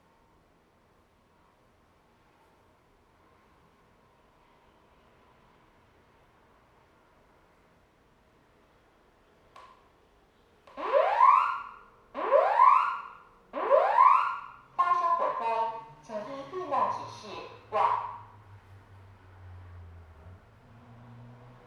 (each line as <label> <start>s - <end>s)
test fire alarm system 10.7s - 18.4s